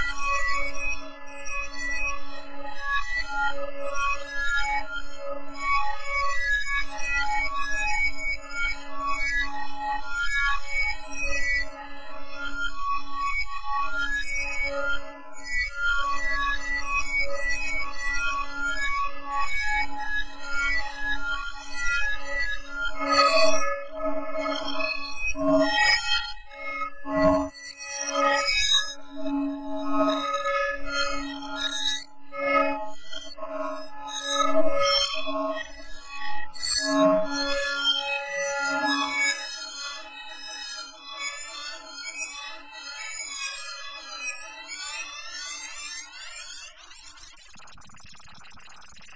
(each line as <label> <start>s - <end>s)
granular synthesis sampling instrument 46.5s - 49.1s